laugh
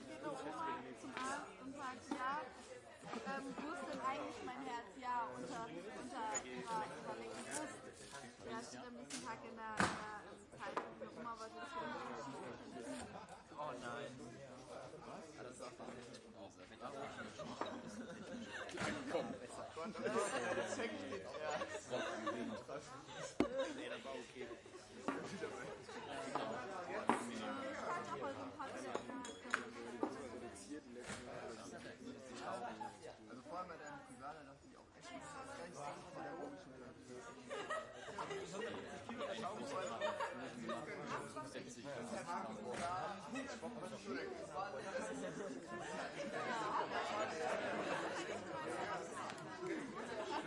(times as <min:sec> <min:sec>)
0:37.5 0:39.0